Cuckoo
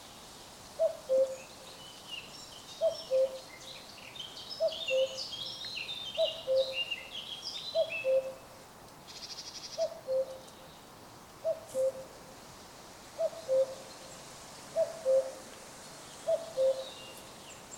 0.8s 1.4s, 2.8s 3.5s, 4.6s 5.2s, 6.2s 6.8s, 7.8s 8.4s, 9.8s 10.4s, 11.4s 12.1s, 13.2s 13.8s, 14.8s 15.4s, 16.3s 17.0s

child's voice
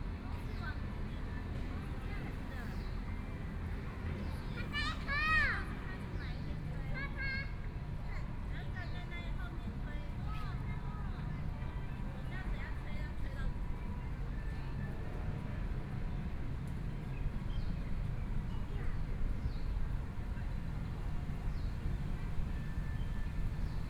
4.6s 5.7s

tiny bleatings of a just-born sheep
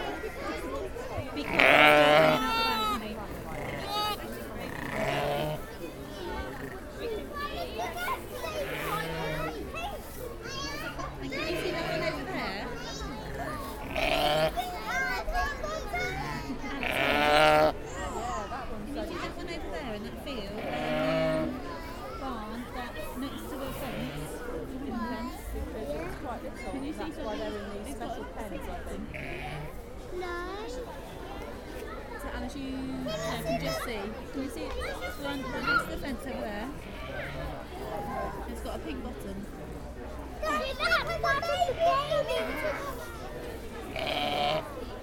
29.1s 29.7s

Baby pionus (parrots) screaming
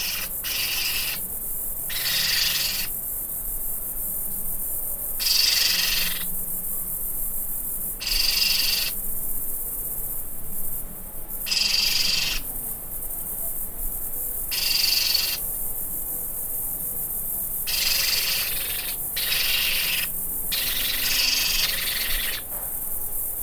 0.0s 1.3s, 1.9s 3.0s, 5.2s 6.3s, 8.0s 9.0s, 11.5s 12.5s, 14.5s 15.4s, 17.7s 22.5s

